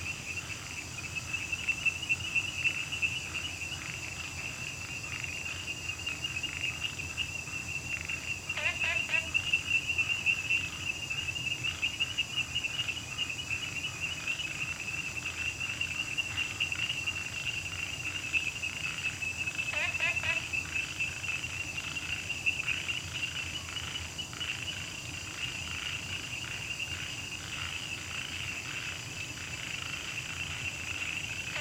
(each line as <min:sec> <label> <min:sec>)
0:00.0 Frogs chirping 0:31.6
0:00.0 Insects sounds 0:31.6